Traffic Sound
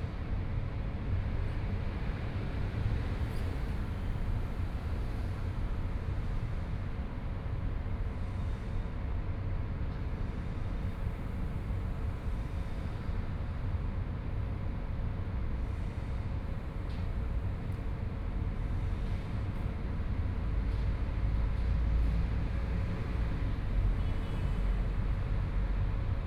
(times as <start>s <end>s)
20.4s 26.2s